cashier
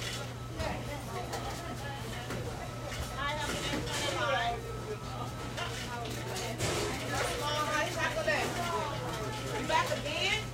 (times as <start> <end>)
0.0 0.3